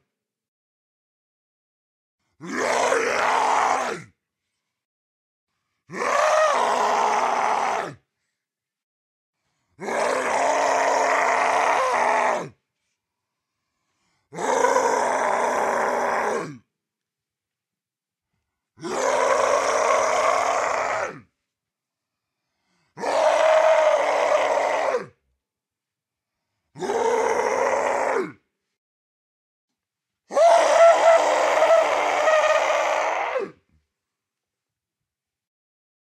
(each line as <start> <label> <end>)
2.4 growl 4.2
5.9 growl 8.0
9.8 growl 12.6
14.3 growl 16.7
18.8 growl 21.3
23.0 growl 25.2
26.7 growl 28.4
30.3 growl 33.6